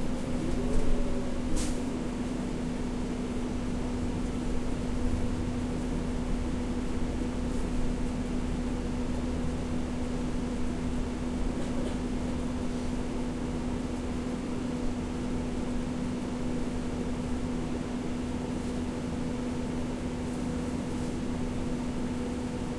passengers 0.0 - 3.2
bus ride 0.0 - 22.7
passengers 11.4 - 13.2

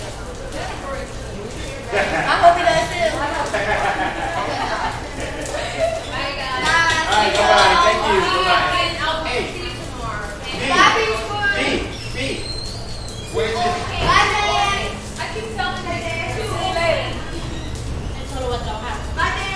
light crowd 0.0 - 19.5

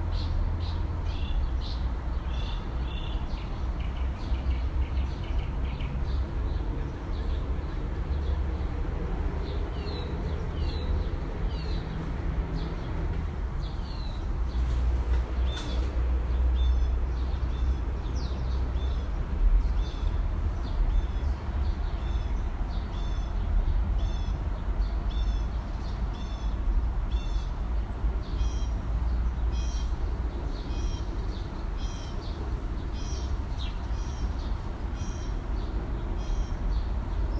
Bus 0.0 - 37.3
birds 0.0 - 37.3
cars 0.0 - 37.3

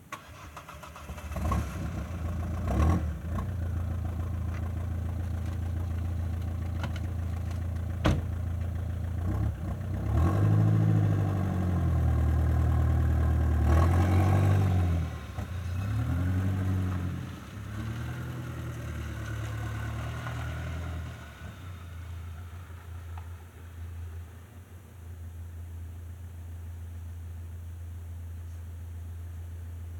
idling far away 0.0 - 29.9
pulling into a reverberant garage and shutting off 0.0 - 29.9
car with a loud exhaust starting 0.0 - 25.8
revving 0.1 - 8.4
revving 9.0 - 23.5

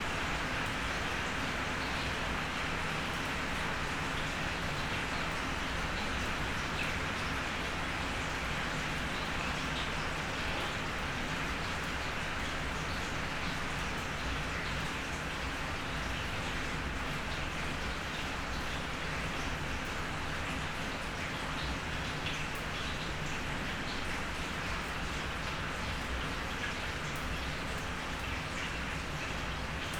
Heavy to medium rain on small backyard and metallic roof 0.0 - 29.9

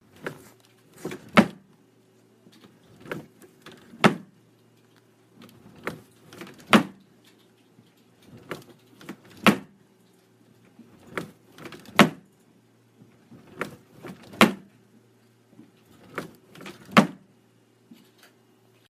wooden dresser drawer opening and closing 0.1 - 1.6
wooden dresser drawer opening and closing 2.6 - 4.3
wooden dresser drawer opening and closing 5.4 - 7.0
wooden dresser drawer opening and closing 10.8 - 12.2
wooden dresser drawer opening and closing 13.3 - 14.6
wooden dresser drawer opening and closing 15.9 - 17.2

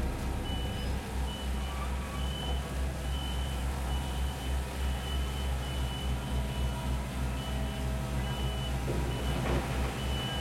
Construction Site 0.0 - 10.4
Truck 0.0 - 10.4

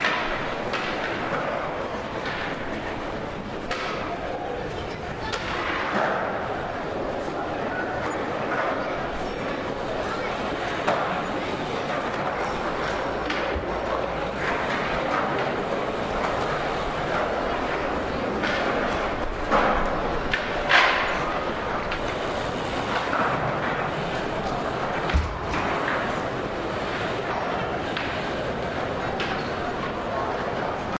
Crowd sounds 0.0 - 30.9
Skateboard 0.0 - 30.9

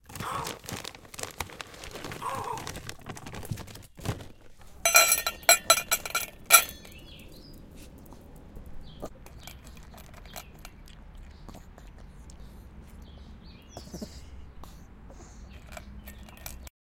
Giving dog pellets 0.0 - 16.7
Dog eats it 4.7 - 16.7

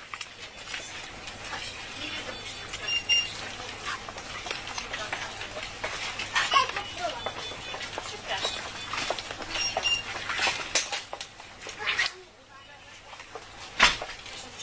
cashdesk 0.0 - 11.9
people 0.2 - 10.8

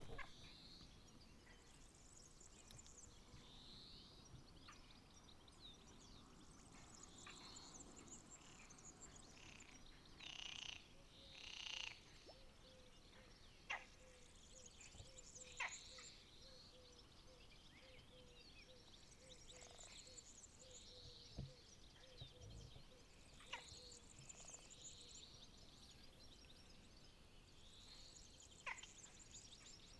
BIRDSONG 0.0 - 29.9
Frogs 7.1 - 22.2
Frogs 22.8 - 26.8
Frogs 27.7 - 29.7

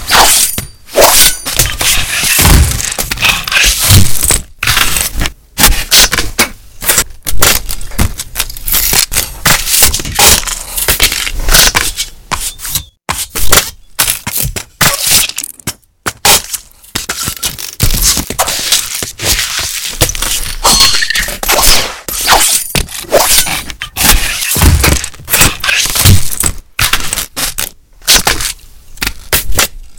stab 0.0 - 12.1
stab 16.1 - 29.9

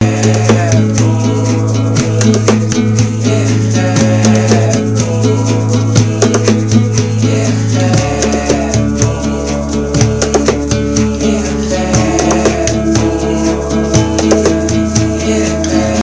acoustic guitar 0.0 - 16.0
bass 0.0 - 16.0
drum beat 0.0 - 16.0
vocal loops 0.0 - 16.0

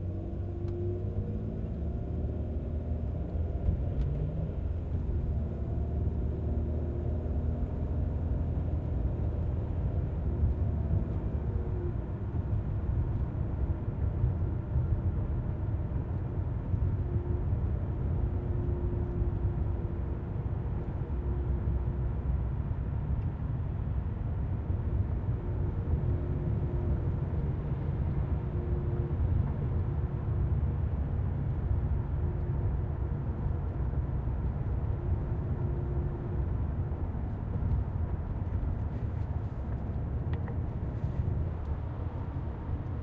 Car interior driving 25.4 - 43.0

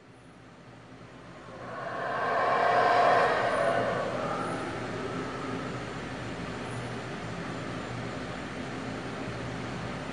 howler monkeys call 1.4 - 6.0

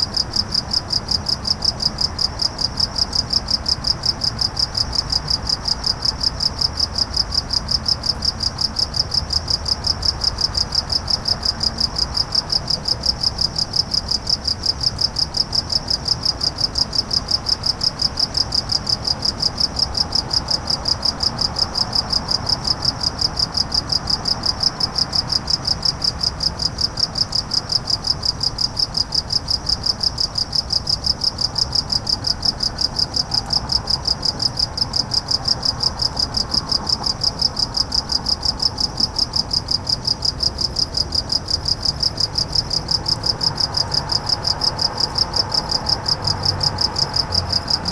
Crickets 0.0 - 47.9
distant cars passing 30.6 - 47.9

